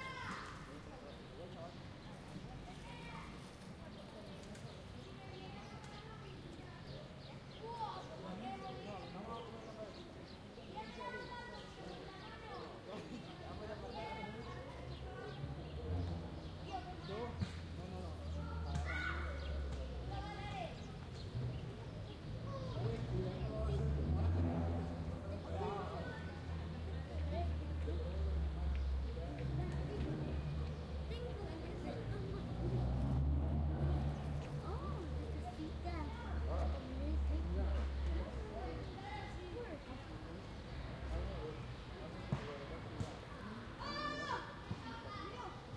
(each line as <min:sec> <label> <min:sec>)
0:00.0 birds 0:33.2
0:00.0 children playing 0:45.7
0:00.0 people hanging out 0:45.7